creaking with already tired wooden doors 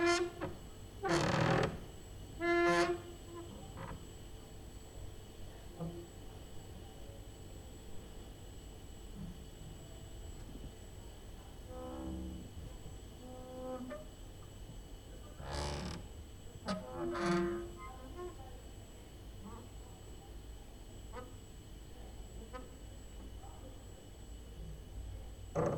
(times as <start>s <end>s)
0.0s 4.0s, 15.4s 16.1s, 16.7s 17.9s